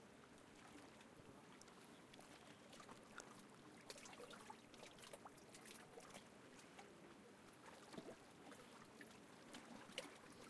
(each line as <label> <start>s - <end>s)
motorboats 0.0s - 10.4s
sailboats 0.0s - 10.4s